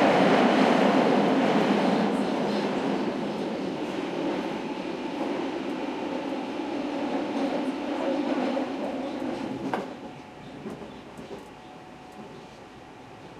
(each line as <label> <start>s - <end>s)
commuter train 0.0s - 13.3s
passenger chatter 0.0s - 13.3s